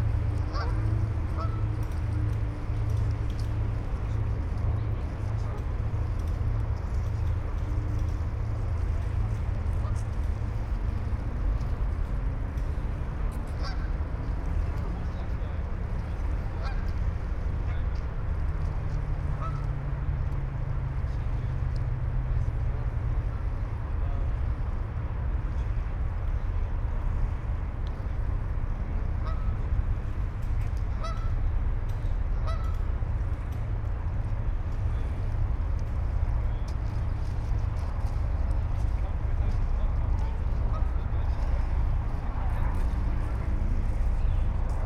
0.0s ship and traffic drone 44.8s
0.3s a flock of geese 2.3s
13.4s a flock of geese 14.0s
16.0s a flock of geese 17.0s
19.3s a flock of geese 19.7s
29.2s a flock of geese 29.6s
30.8s a flock of geese 31.4s
32.4s a flock of geese 32.8s

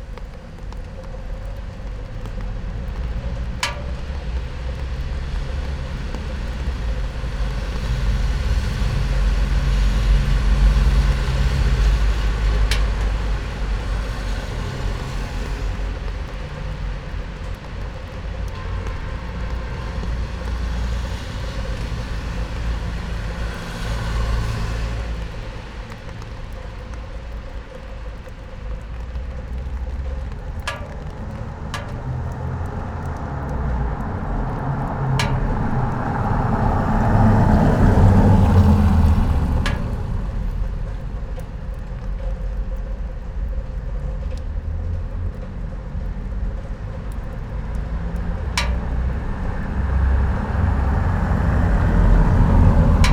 0.0s night rain 53.1s
0.0s rain gutter 53.1s
0.0s traffic 53.1s

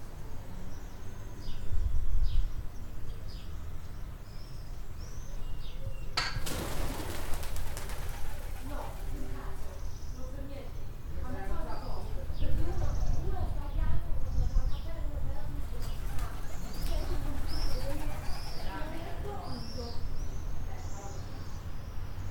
5.6s pigeons 10.1s
15.6s pigeons 19.9s

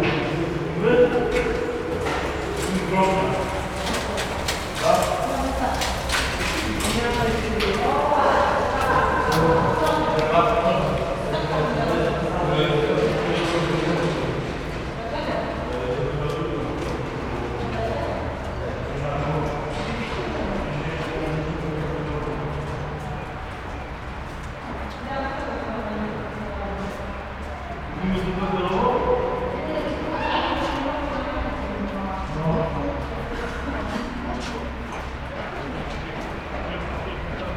0.0s conversations 37.5s

